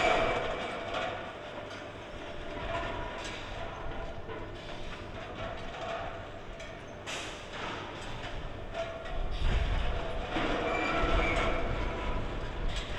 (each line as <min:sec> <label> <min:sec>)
0:00.0 bottling plant at work, from a distance 0:12.9
0:09.1 strong wind 0:12.9